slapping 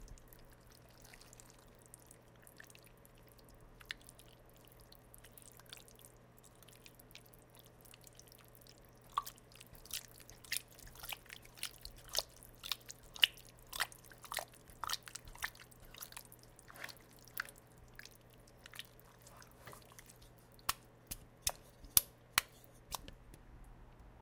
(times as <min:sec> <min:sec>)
0:19.6 0:23.1